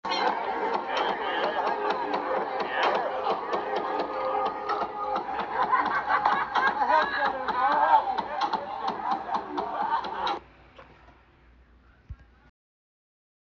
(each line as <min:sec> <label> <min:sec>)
0:00.0 people 0:12.5